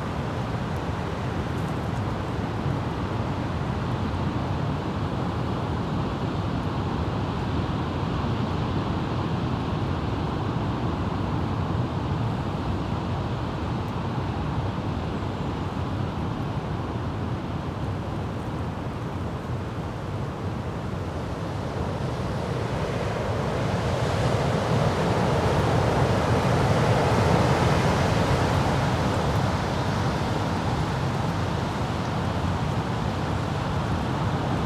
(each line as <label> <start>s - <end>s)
strong wind 0.0s - 34.6s